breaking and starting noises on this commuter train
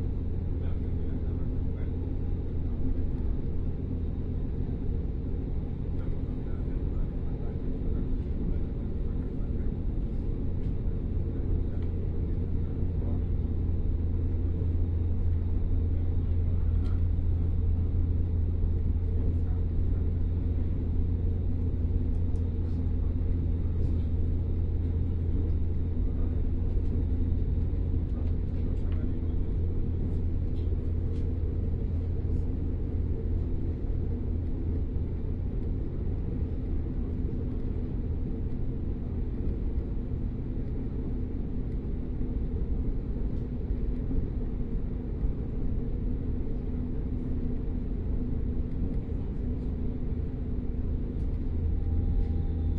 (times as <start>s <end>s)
46.1s 52.7s